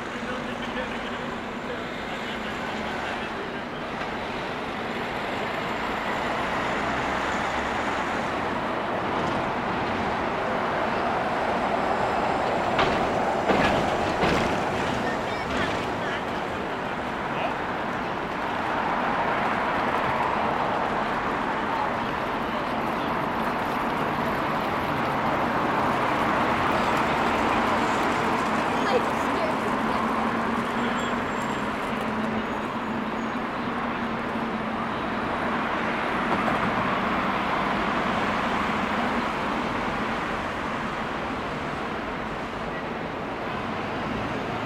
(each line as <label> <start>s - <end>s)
different vehicles driving by 0.0s - 44.6s
baby stroller over cobblestone 8.2s - 44.6s
various groups chattering 27.4s - 32.4s
kids chatting 28.5s - 30.5s